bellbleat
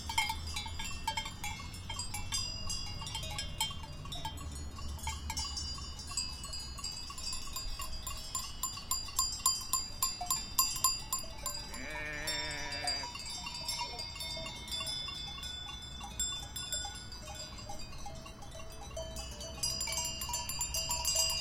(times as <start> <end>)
11.4 14.4